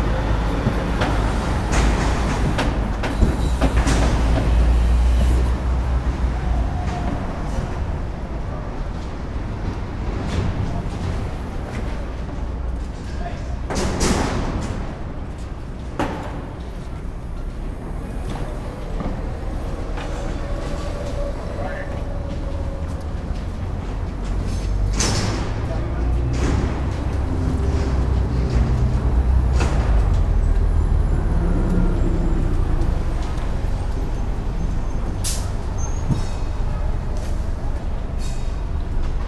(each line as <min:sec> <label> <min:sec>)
0:00.0 busy street 0:39.2
0:00.0 house construction 0:39.2